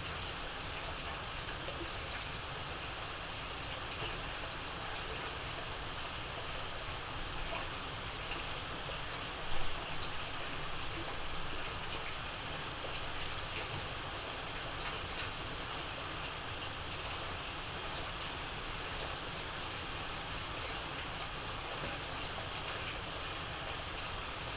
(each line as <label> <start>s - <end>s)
rain at night 0.0s - 24.5s